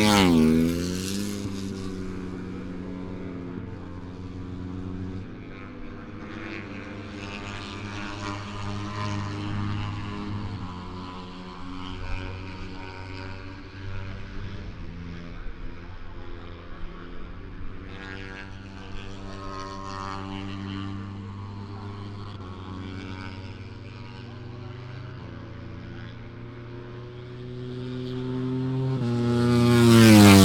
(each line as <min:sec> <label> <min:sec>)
0:00.0 Motorcycle 0:30.4